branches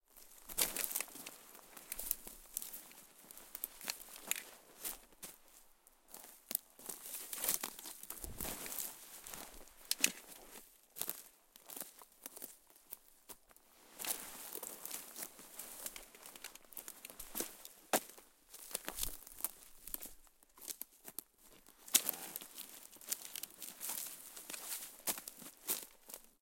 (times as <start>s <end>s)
0.2s 5.4s, 6.1s 12.5s, 21.9s 26.2s